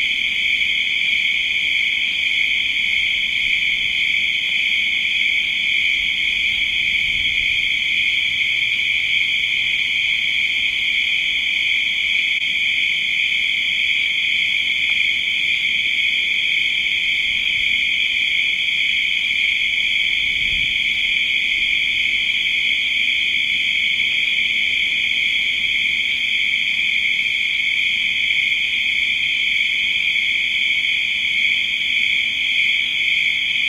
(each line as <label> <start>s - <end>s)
crickets 0.0s - 33.6s